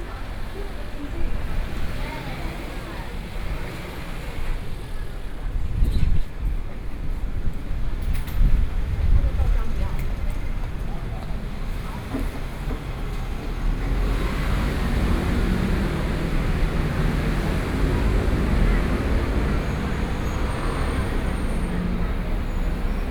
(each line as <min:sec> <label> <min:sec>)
0:00.0 Traffic Sound 0:23.1
0:00.0 Walking on the road 0:23.1